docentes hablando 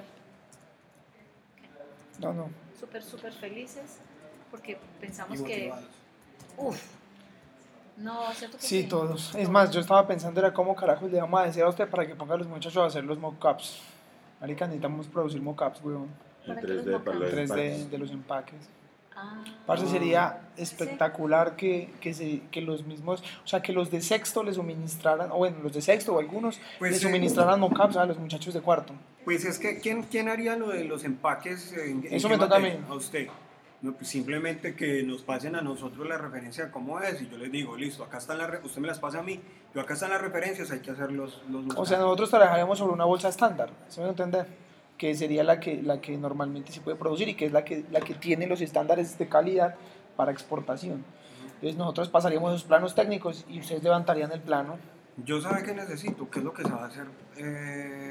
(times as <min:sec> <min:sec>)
0:19.2 0:34.2, 0:46.4 0:57.3